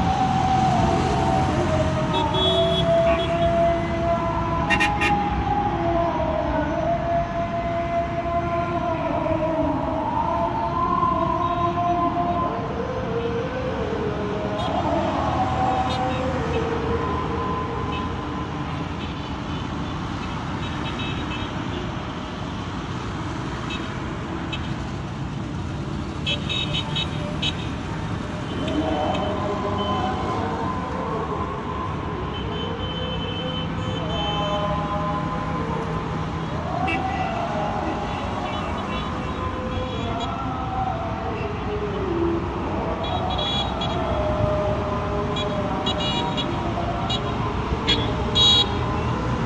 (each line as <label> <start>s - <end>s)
muezzin is singing 0.0s - 20.9s
traffic 0.0s - 49.4s
muezzin is singing 26.8s - 49.4s